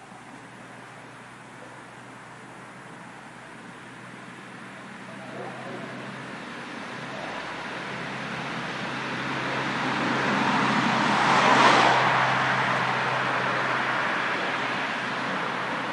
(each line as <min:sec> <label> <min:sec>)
0:04.6 dogs barking 0:08.1
0:04.7 Tawny Owl callings 0:08.6
0:05.3 car passing fast 0:15.9